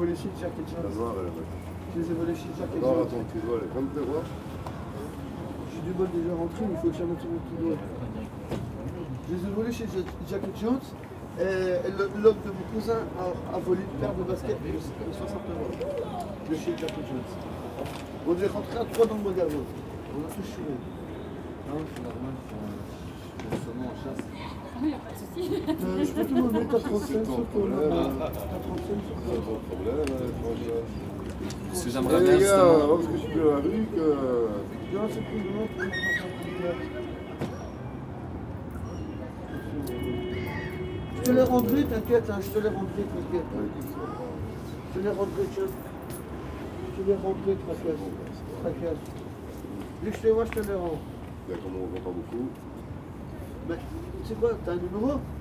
0.0s drug addict people discussing 55.4s
0.0s walk into the station 55.4s

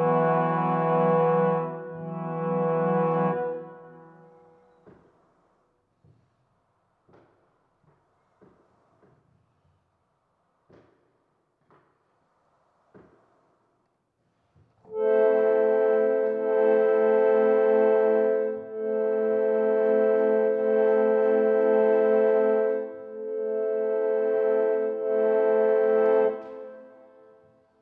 0.0s Playing the harmonium 4.6s
14.9s Playing the harmonium 27.4s

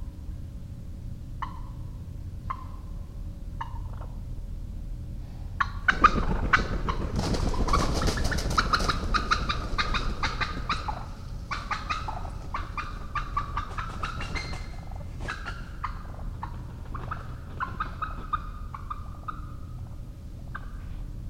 3.6s wild turkey scuffle 4.2s
5.6s wild turkey scuffle 21.2s

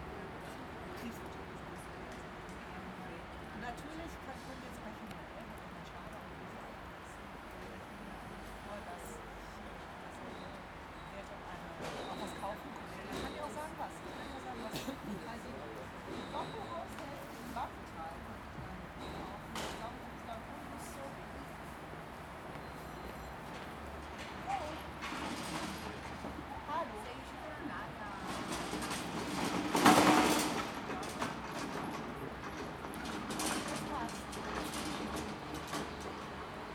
0.0s people are chatting 36.7s
11.6s train passing 36.7s

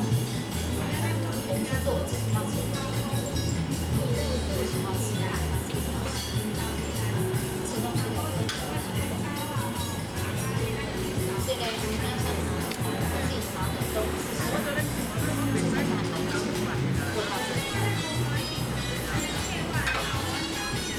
0.0s Traffic noise 20.9s
7.1s Visitor 20.9s

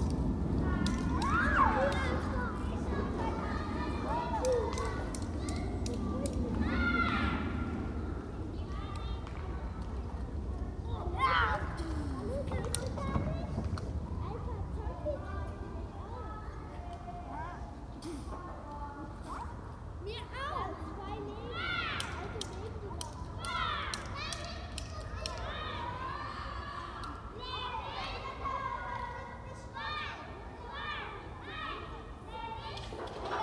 0.0s low plane 18.5s
0.0s kids 33.4s

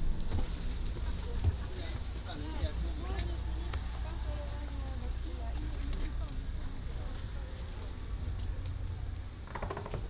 0.0s yacht 10.0s

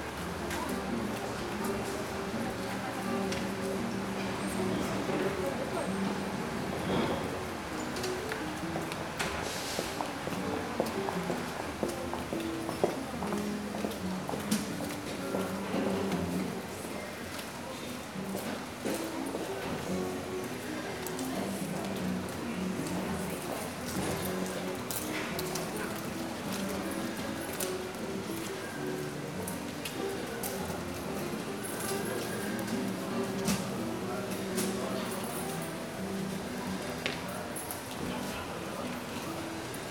10.3s practicing guitar tunes 16.8s
18.0s practicing guitar tunes 37.9s

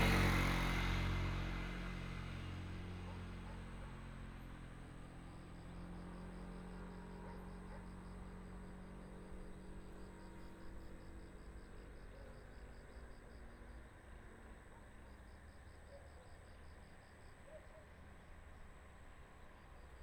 0.0s Traffic sound 4.7s
3.0s Dog barking 4.2s
7.1s Dog barking 8.0s
17.5s Dog barking 18.0s

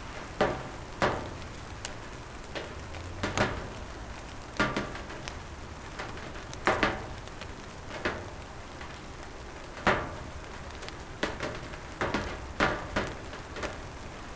0.0s Calm summer rain 14.3s
1.5s Cars driving by 5.8s

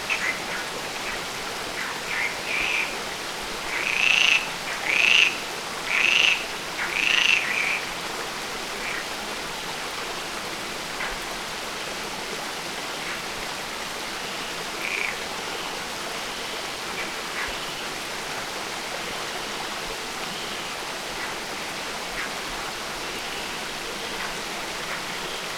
0.0s stream flow going in a very intricate way 25.5s
0.1s croaking frogs 7.9s
8.8s croaking frogs 9.1s
14.4s croaking frogs 15.7s

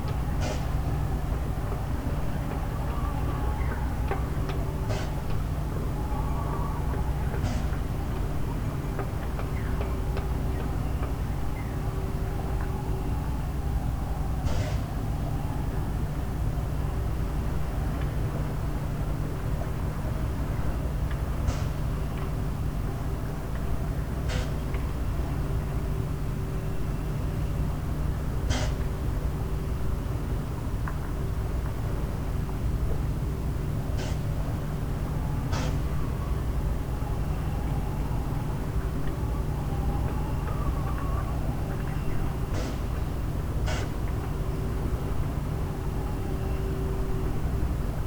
0.0s drone and mechanical noise of a concrete factory 48.0s
0.0s wind blows through sailboat masts and riggings 48.0s

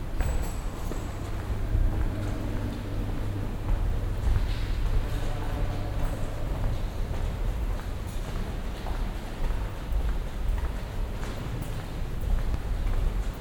0.0s people 13.4s

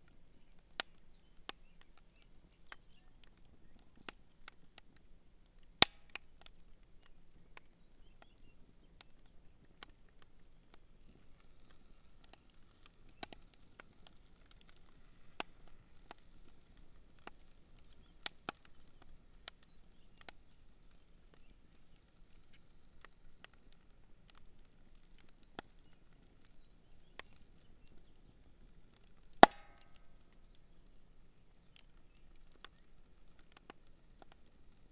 0.0s camp fire 34.9s
29.4s log is added to the fire 30.0s

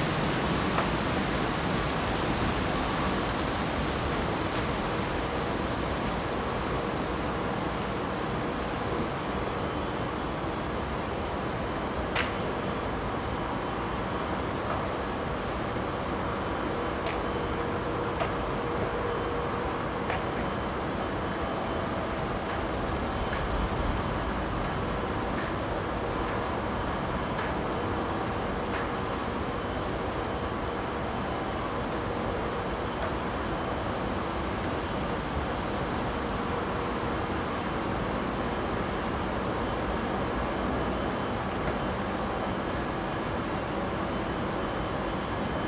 0.0s very windy morning 45.6s

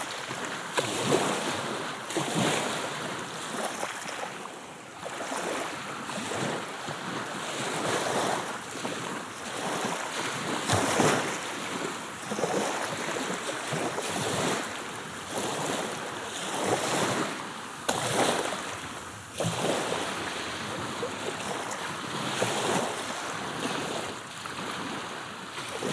0.0s Calm Black Sea 25.9s

